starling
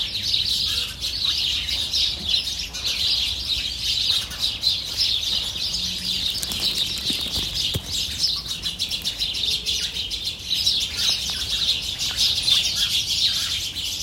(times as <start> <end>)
6.1 9.3